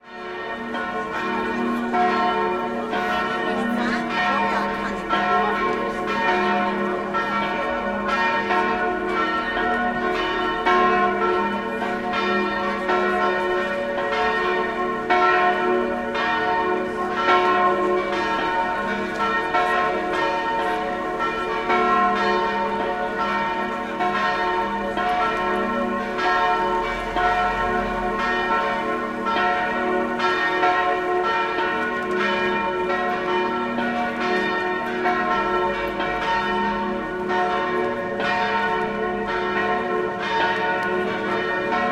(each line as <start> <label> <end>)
0.0 bells 41.9
0.8 people 7.7